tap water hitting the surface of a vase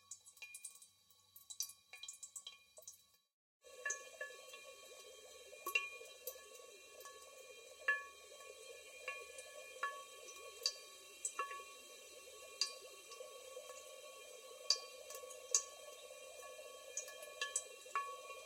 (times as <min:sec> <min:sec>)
0:07.8 0:08.1